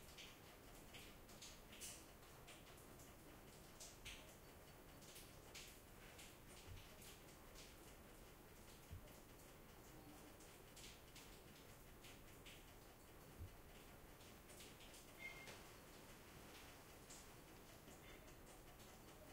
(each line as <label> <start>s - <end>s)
Rain 0.0s - 19.3s